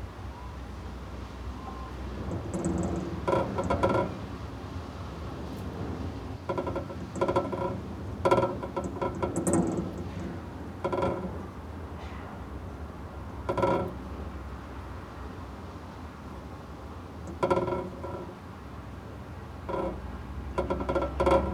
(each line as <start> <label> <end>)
0.8 wind rattling a window 21.5